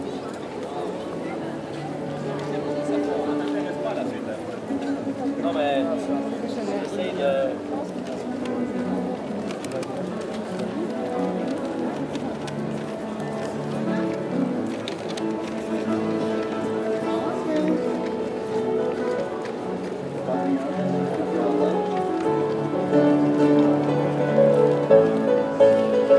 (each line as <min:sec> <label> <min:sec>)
0:00.0 people walking quietly 0:26.1
0:00.0 piano player 0:26.1